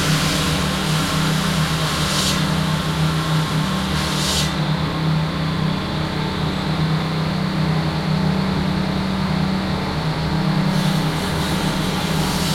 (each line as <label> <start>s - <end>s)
drilling 0.0s - 4.7s
People Working On A German Construction 0.0s - 12.5s
crane 0.0s - 12.5s
drilling 10.7s - 12.5s